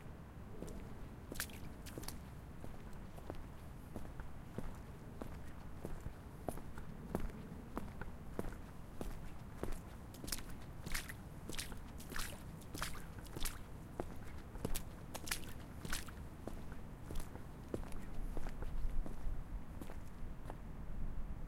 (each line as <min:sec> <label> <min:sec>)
0:00.5 Walking in water puddle 0:20.6